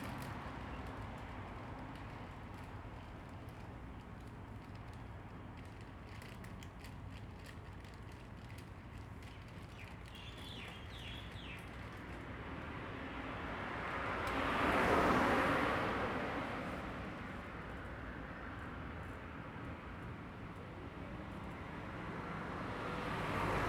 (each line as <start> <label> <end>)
10.4 Traffic Sound 23.6